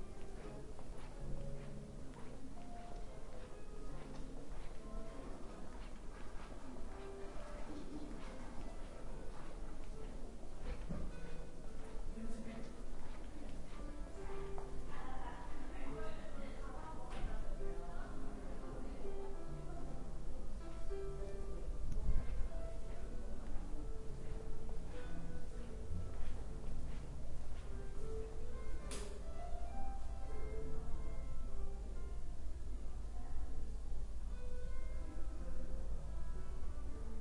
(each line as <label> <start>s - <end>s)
footsteps 0.0s - 15.7s
Music 0.0s - 37.2s
people talking 6.6s - 9.5s
people talking 12.2s - 20.1s
footsteps 21.9s - 29.3s